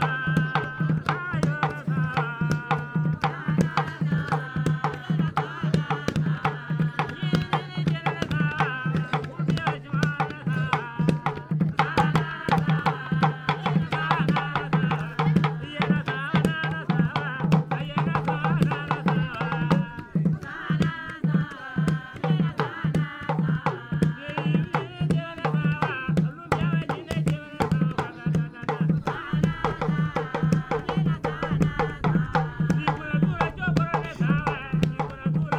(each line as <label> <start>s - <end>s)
dances 0.0s - 35.5s
traditionnal music 24.2s - 35.5s